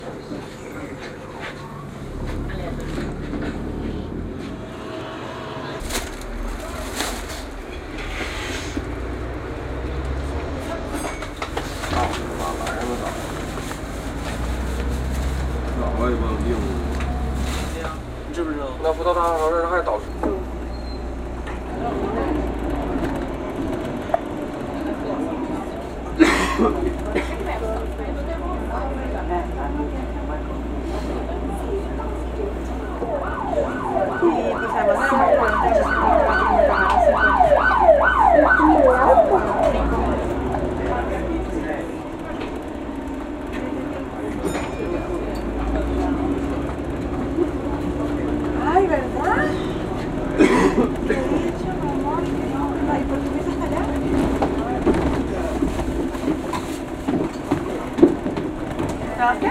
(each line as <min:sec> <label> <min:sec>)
0:00.0 Voices 0:59.5
0:00.0 traffic noise 0:59.5
0:07.6 engine sound 0:19.2